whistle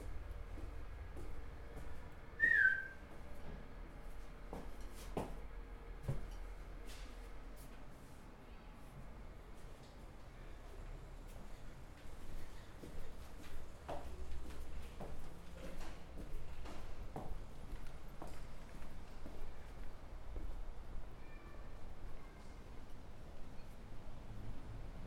2.4 3.0

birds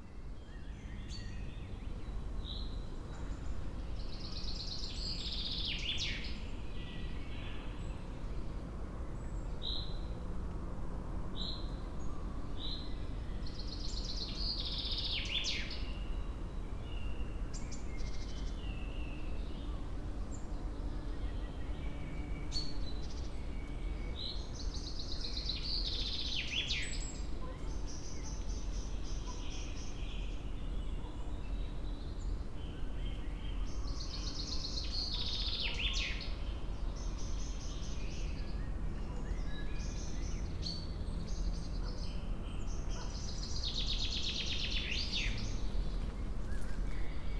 11.3 47.3

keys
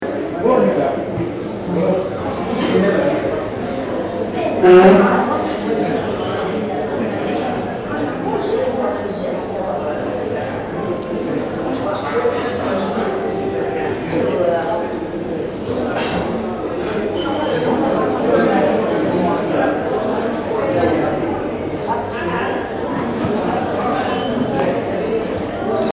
10.8 13.1

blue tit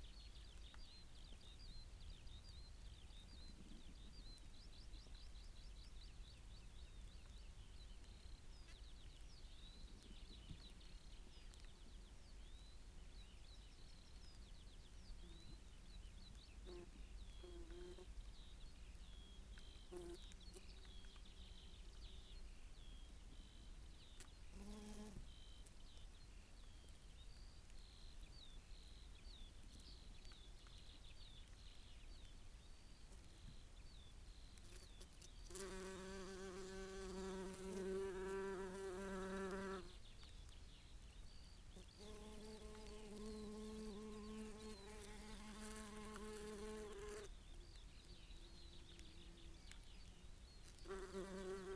48.0 51.7

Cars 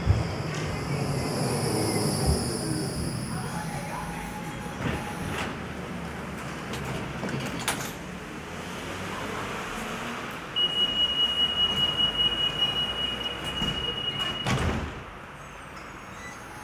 4.6 16.6

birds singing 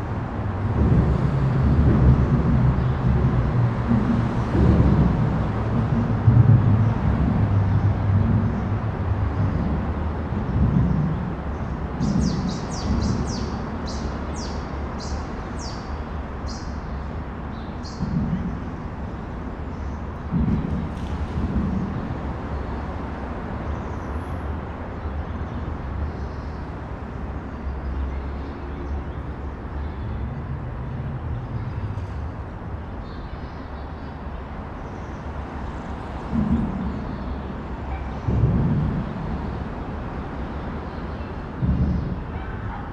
10.4 18.8

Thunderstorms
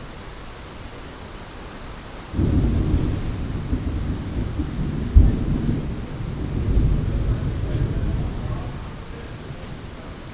2.3 10.3

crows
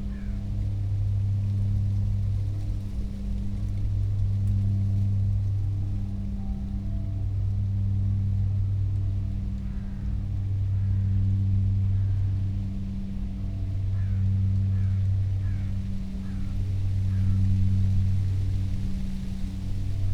0.1 0.3, 13.9 17.5

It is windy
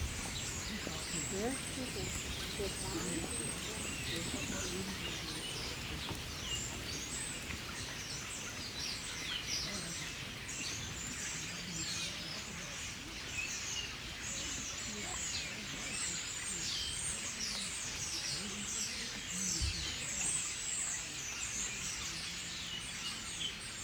0.0 11.1

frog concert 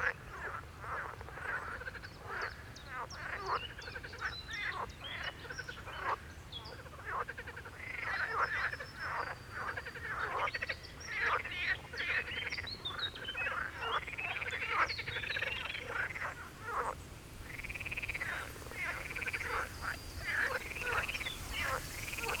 13.4 22.4

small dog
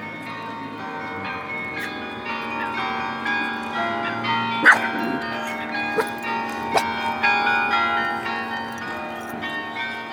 4.6 7.0

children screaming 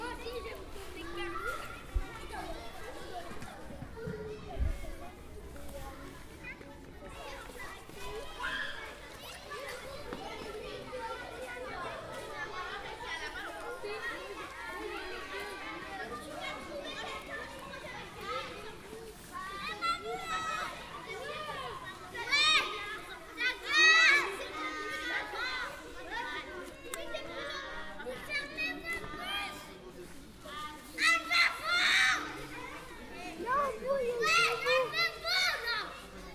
8.1 9.1

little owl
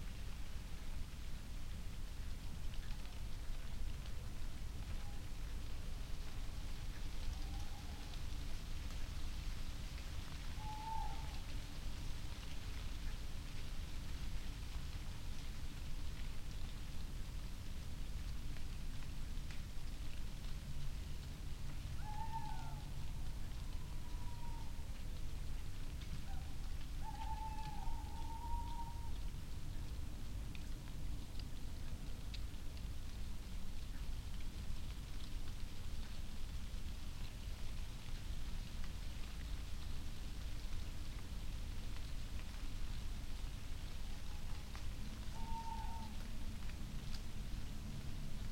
7.2 8.2, 10.5 11.5, 22.0 24.8, 26.2 29.2, 44.2 46.3

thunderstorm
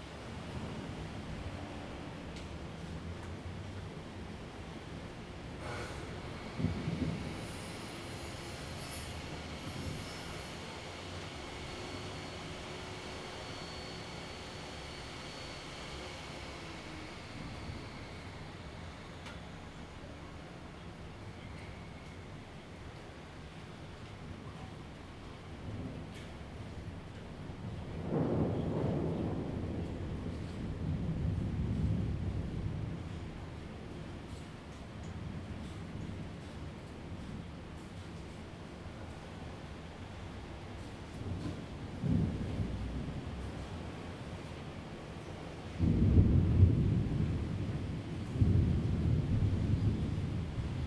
2.3 19.8, 25.4 37.2, 40.3 50.8

